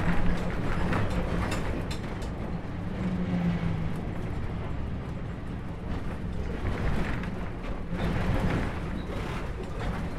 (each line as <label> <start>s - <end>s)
Tramway N5, test drive 0.0s - 10.1s